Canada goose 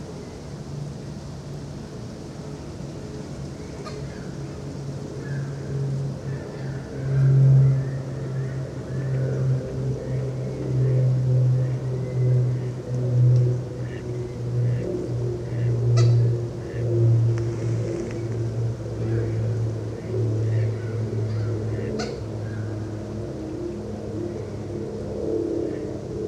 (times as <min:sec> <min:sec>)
0:21.3 0:22.2